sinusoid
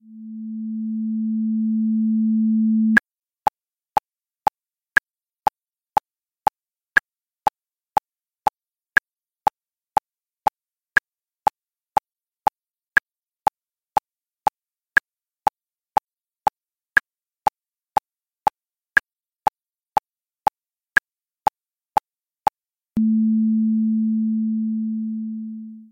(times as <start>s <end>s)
23.0s 25.9s